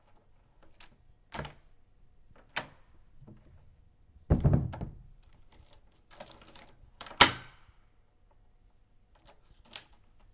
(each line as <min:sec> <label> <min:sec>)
0:05.2 key 0:07.1
0:09.1 key 0:10.3